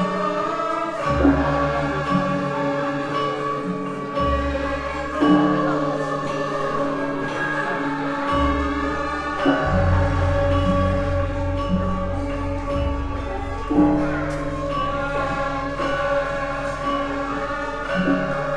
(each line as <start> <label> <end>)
0.0 gong 18.5
0.0 saron 18.5
0.0 vocal 18.5
0.0 xylophone 18.5